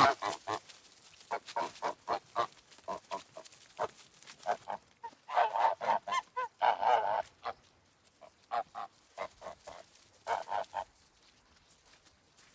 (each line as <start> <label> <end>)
0.0 geese honking 0.6
1.3 geese honking 7.6
8.2 geese honking 10.9